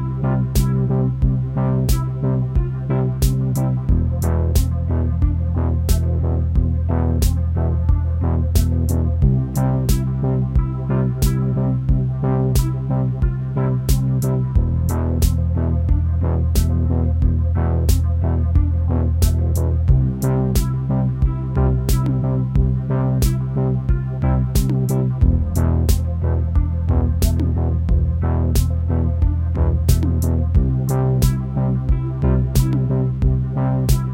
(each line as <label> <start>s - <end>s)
beat 0.0s - 34.1s